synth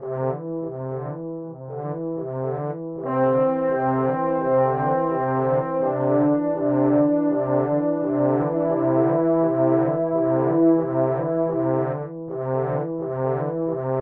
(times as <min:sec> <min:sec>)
0:03.0 0:13.6